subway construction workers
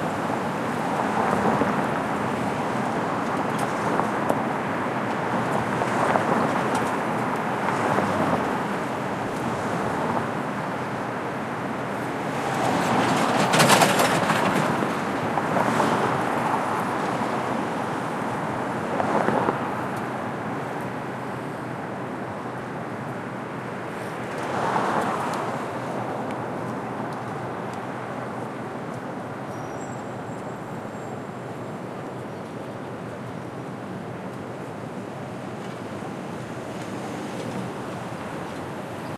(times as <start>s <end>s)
12.4s 15.4s